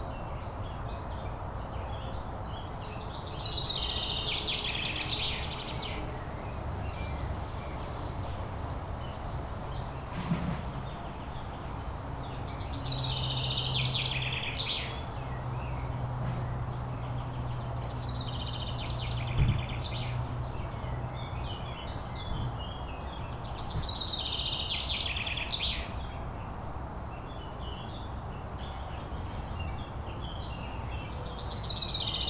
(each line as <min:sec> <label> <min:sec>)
0:00.0 motorway 0:32.2
0:27.4 singing birds 0:32.2